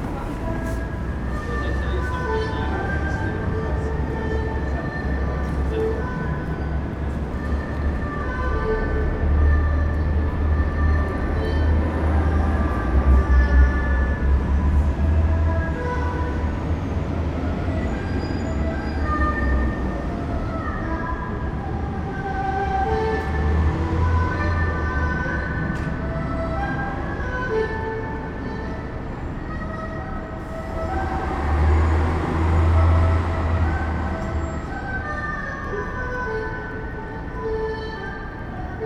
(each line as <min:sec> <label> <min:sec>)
0:00.0 Chinese musician 0:38.8